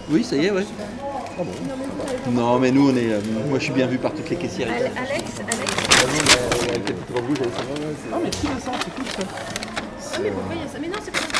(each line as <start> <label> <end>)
4.4 clients in the supermarket 11.3